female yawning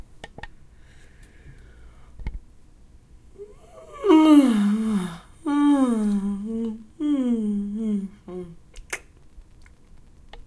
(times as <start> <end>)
3.4 8.6